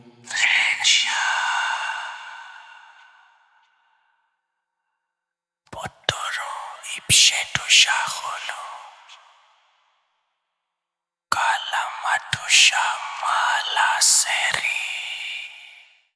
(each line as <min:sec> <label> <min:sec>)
0:00.0 cult whispers 0:03.7
0:05.8 cult whispers 0:09.3